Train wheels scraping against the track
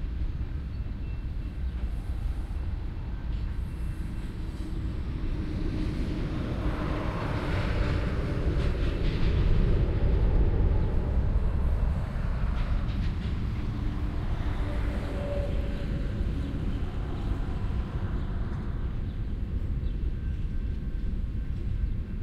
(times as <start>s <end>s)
1.4s 19.1s